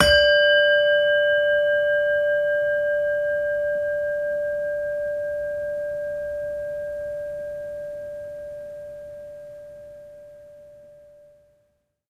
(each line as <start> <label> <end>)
0.0 Medieval Bell D3 4.9